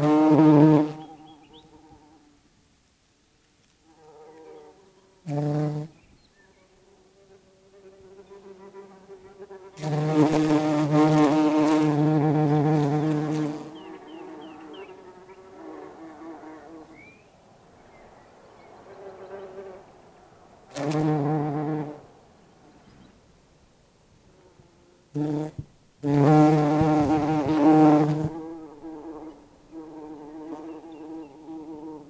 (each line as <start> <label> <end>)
0.0 Bumblebees 2.3
4.0 Bumblebees 17.0
24.3 Bumblebees 32.0